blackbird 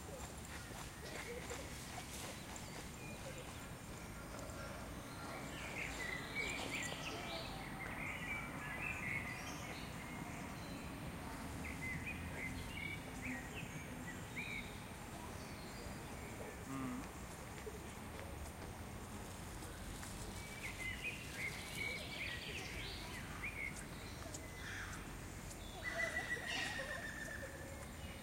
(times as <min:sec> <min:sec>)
0:20.3 0:28.2